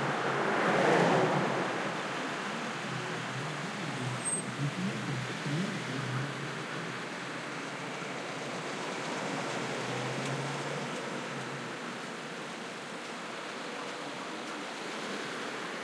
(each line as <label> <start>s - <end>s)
stop and go traffic 0.0s - 15.8s